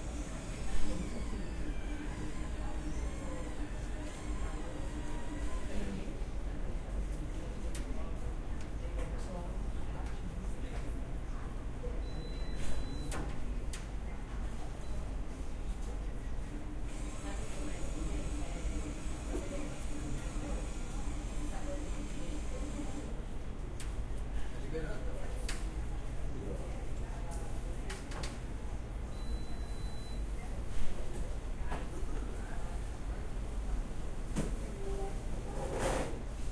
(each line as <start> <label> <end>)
0.0 People chattering 12.1
16.0 People chattering 27.9